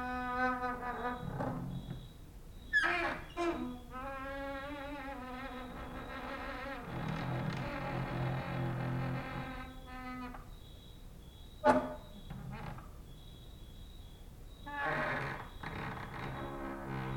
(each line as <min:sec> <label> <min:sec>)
0:00.0 creaking with wooden doors 0:13.8
0:00.0 cricket outside 0:17.1
0:14.5 creaking with wooden doors 0:17.1